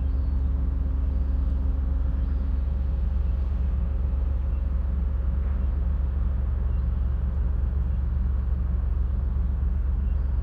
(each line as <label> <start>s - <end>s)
sea 0.0s - 10.4s